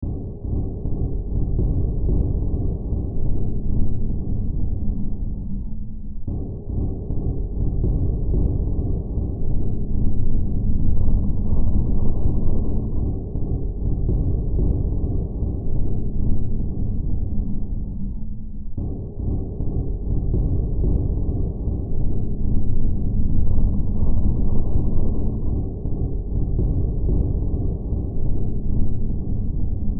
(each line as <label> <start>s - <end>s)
Drone 0.0s - 29.9s